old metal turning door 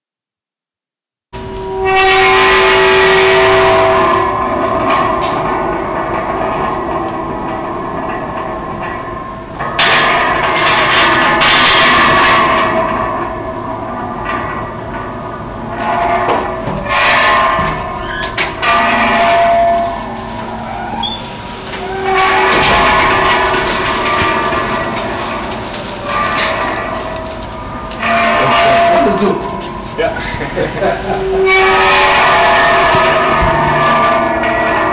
14.3s 29.9s

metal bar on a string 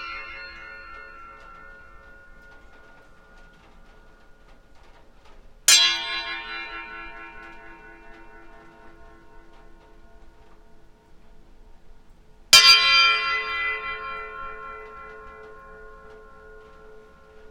0.0s 4.6s, 5.7s 10.8s

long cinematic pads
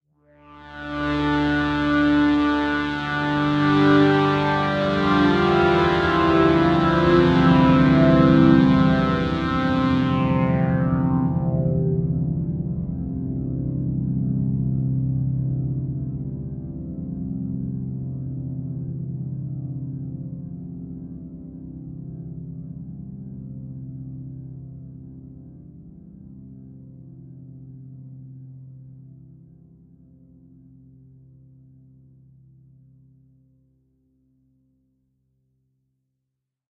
0.6s 14.5s

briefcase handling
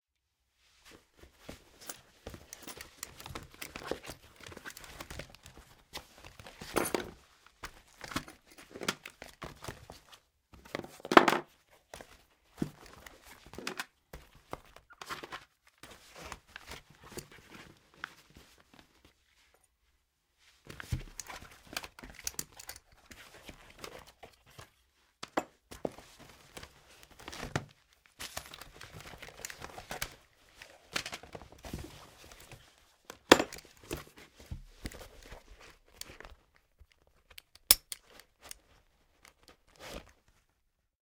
1.5s 11.5s, 25.3s 40.1s

